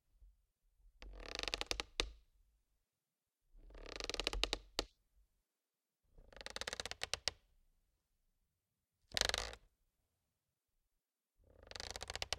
Plastic Creak 11.8 - 12.3

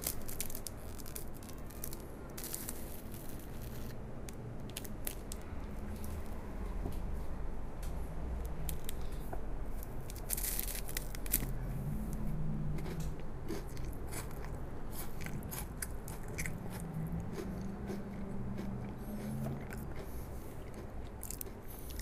eating Kinder bueno 10.0 - 22.0

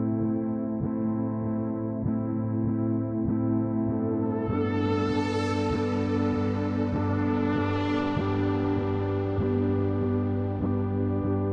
electronic music 5.5 - 10.3

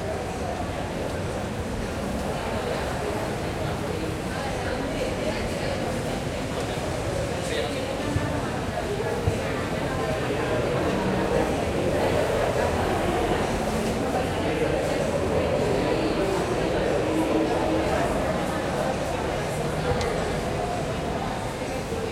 Subway 0.0 - 22.1
Walla 8.6 - 22.1

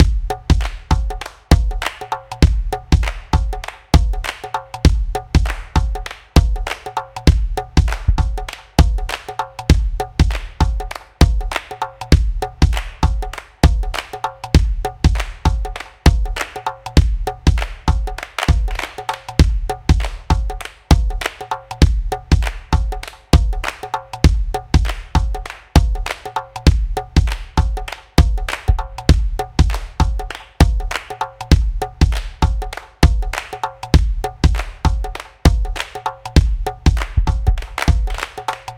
kick 0.0 - 1.7
GHANA drums 0.0 - 38.7
clap 0.0 - 38.7
kick 28.2 - 30.8

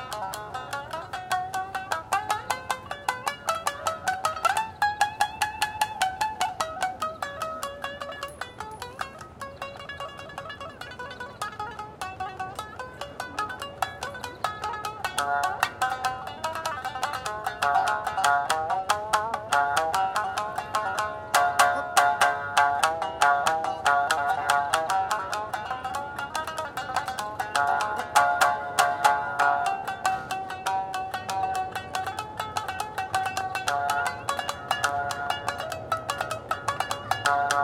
Koto musician performs 0.0 - 37.6

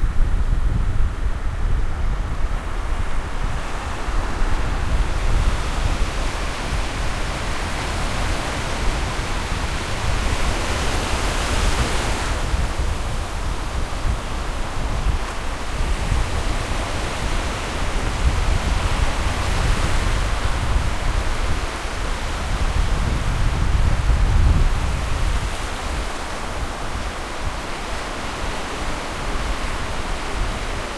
Waves at the beach 0.0 - 30.9
wind 0.0 - 30.9

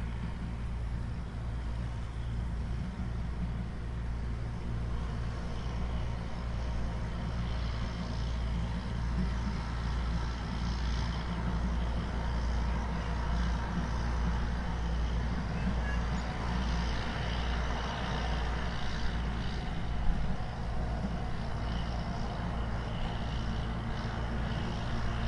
Tractor driving in the fields from far away 0.0 - 25.2

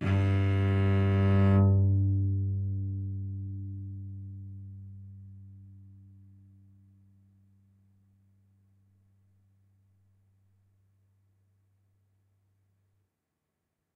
Bowed note on cello 0.0 - 6.5

